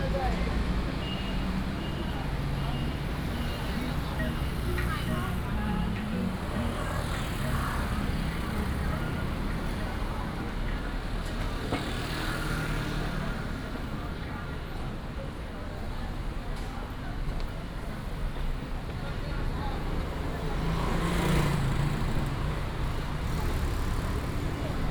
Traffic noise 0:00.0 - 0:24.9
walking in the Street 0:00.0 - 0:24.9

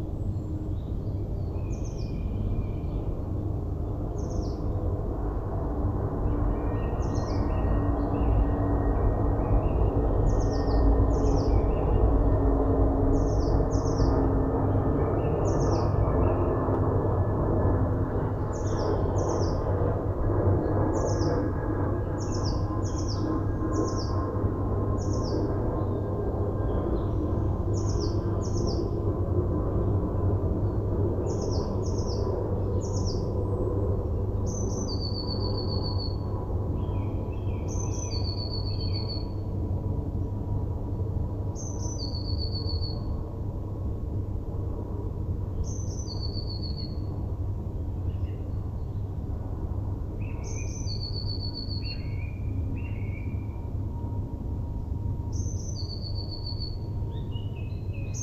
planes 0:00.0 - 0:58.2
Birds 0:06.2 - 0:12.3
Birds 0:13.0 - 0:16.7
Birds 0:20.7 - 0:29.0
Birds 0:30.6 - 0:39.5
Birds 0:50.2 - 0:53.7
Birds 0:55.3 - 0:58.2

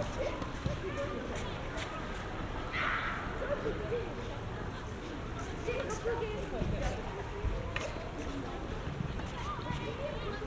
children adults talking 0:00.0 - 0:10.4
traffic 0:00.0 - 0:10.4
wind 0:00.0 - 0:10.4

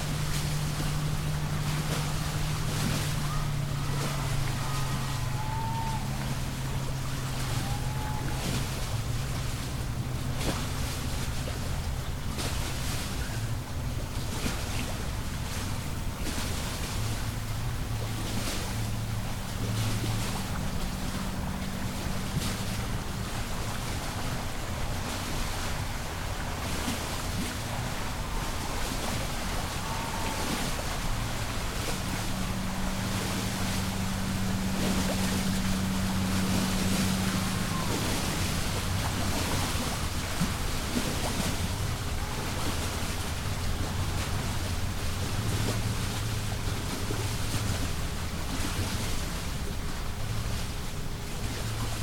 boats pass 0:00.0 - 0:52.0
cheering 0:03.2 - 0:08.8
cheering 0:27.8 - 0:31.2

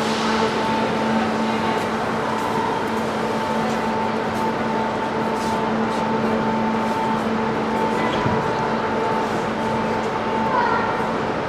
people talking on the platform 0:00.0 - 0:11.4
the train leaves 0:00.0 - 0:11.4
people are actively walking 0:00.0 - 0:11.4

